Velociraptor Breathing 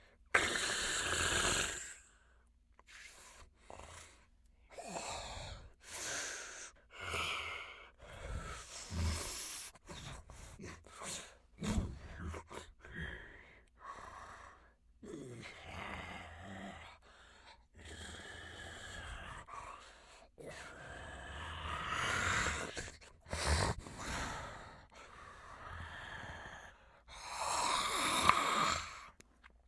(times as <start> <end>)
15.4 29.2